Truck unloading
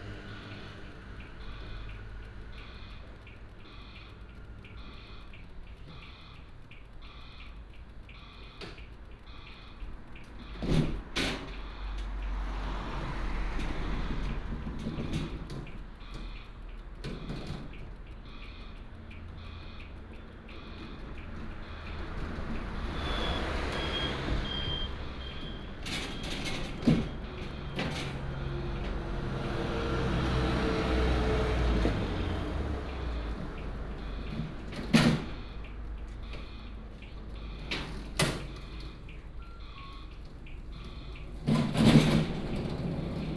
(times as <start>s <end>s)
37.2s 43.3s